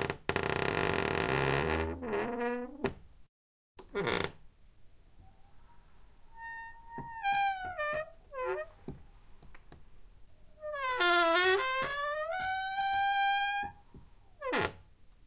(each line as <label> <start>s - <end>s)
Squeaky creaking door 0.0s - 3.0s
Squeaky creaking door 3.8s - 4.4s
Squeaky creaking door 6.3s - 8.8s
Squeaky creaking door 10.6s - 13.8s
Squeaky creaking door 14.4s - 14.8s